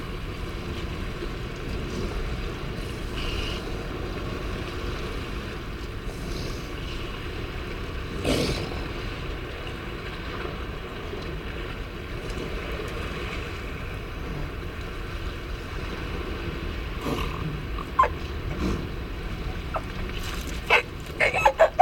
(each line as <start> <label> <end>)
0.0 elephant seals mothers and pups loafing on a rocky outcrop 21.8
17.0 peregrine calls 18.3
19.5 peregrine calls 21.8